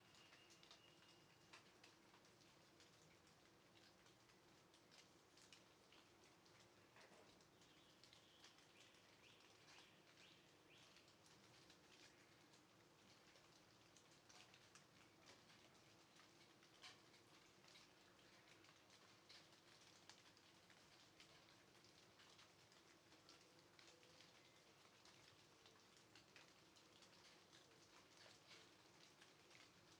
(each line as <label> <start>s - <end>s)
Rain, starting very quiet and increasing 0.0s - 29.9s